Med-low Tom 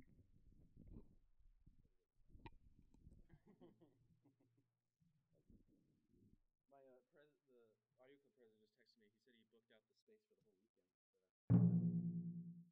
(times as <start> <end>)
11.5 12.7